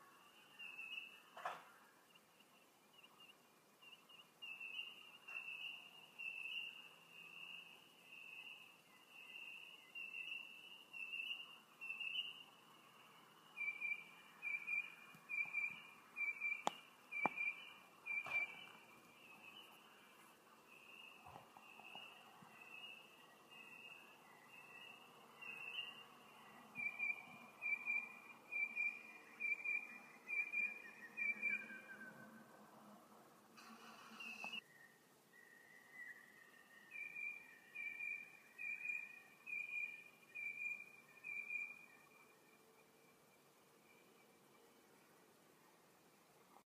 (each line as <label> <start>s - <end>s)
bird tweets and chirps 0.0s - 32.5s
bird tweets and chirps 33.7s - 45.1s